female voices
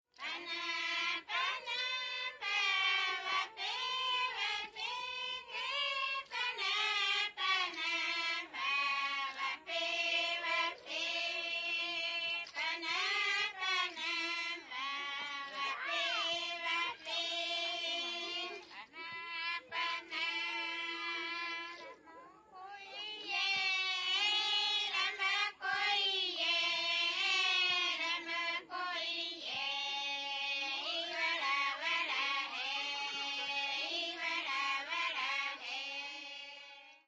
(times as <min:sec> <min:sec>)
0:17.7 0:23.8